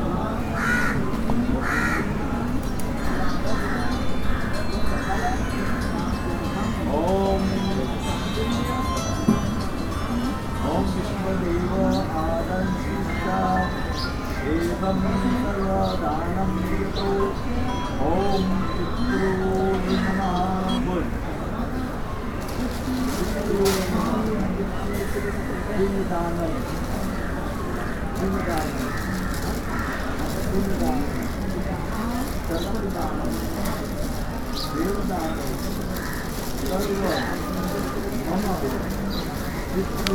Brahmins at work 19.3 - 40.1

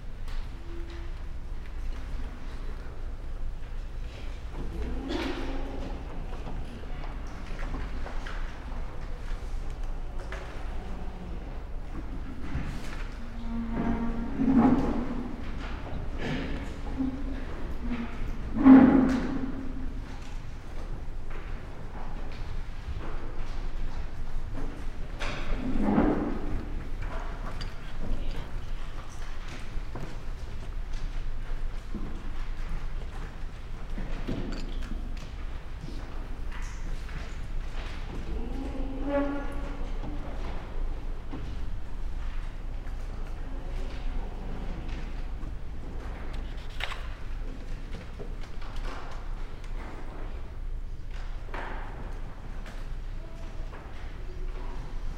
chairs 12.0 - 20.4

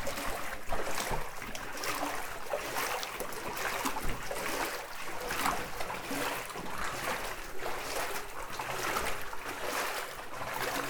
boats 0.0 - 10.8
cross a tunnel with few water 0.0 - 10.8
swimming in a deep cold 4 meters deep water 0.0 - 10.8

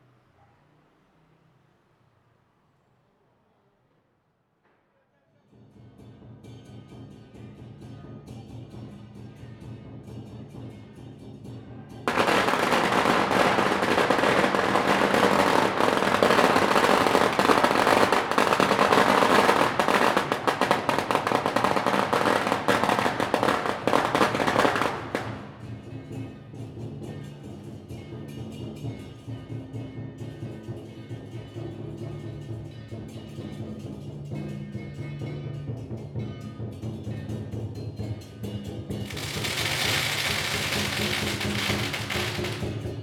drums 5.5 - 43.0
Firecrackers 12.0 - 26.8
Firecrackers 38.9 - 43.0

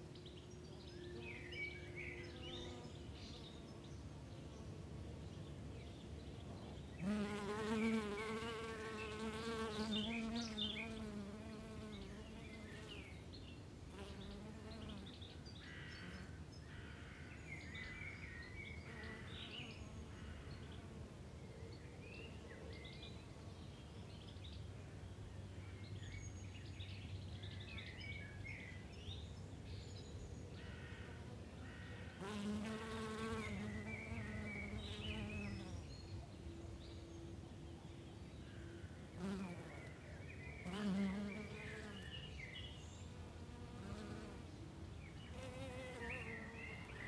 birds 5.2 - 47.0
bees 7.0 - 12.9
bees 32.2 - 35.8
bees 39.2 - 40.0
bees 40.6 - 42.0
bees 45.3 - 47.0

